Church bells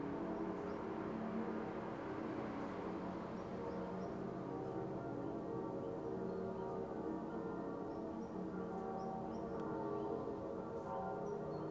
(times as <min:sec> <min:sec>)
0:03.4 0:11.7